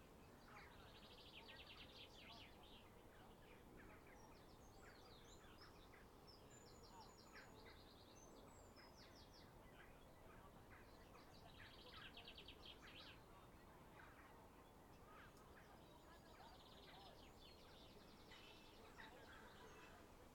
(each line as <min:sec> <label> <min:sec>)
0:00.0 Light wind gently rustling the leaves of the trees 0:20.3
0:00.0 birdsong 0:20.3